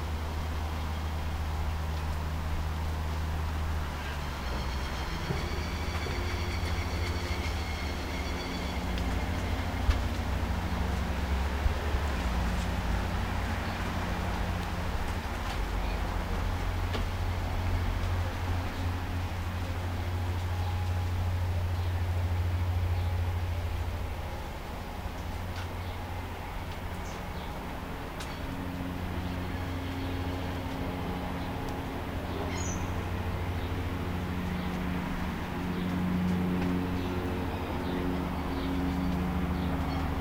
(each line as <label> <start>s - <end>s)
lawnmower in distance 0.0s - 40.2s
wind through trees 0.0s - 40.2s